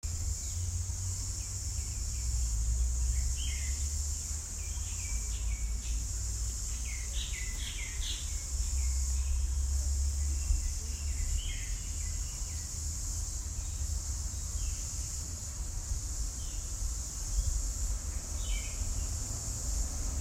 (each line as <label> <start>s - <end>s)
Nature sounds 0.0s - 20.2s